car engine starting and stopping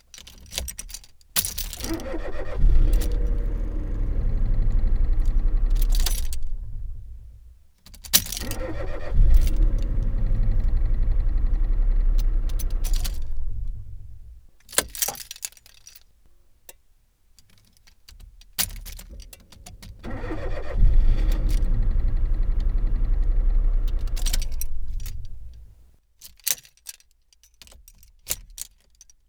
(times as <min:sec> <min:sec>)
0:01.8 0:07.5, 0:08.3 0:14.5, 0:19.8 0:25.9